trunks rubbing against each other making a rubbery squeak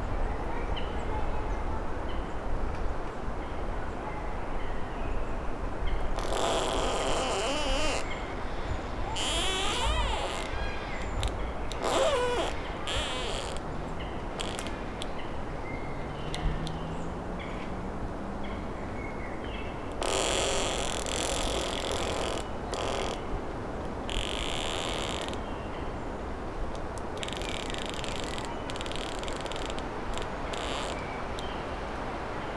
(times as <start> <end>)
6.0 15.2, 20.0 23.3, 24.0 25.5, 26.8 31.5